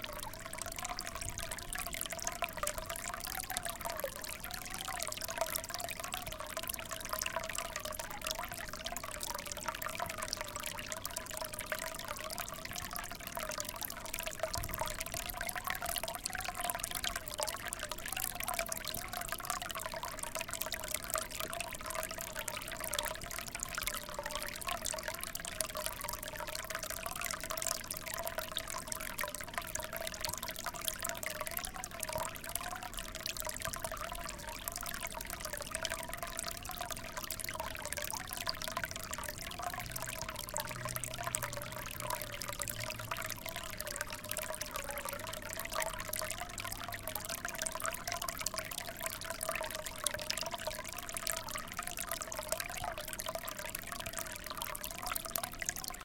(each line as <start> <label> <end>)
0.0 water feature 56.0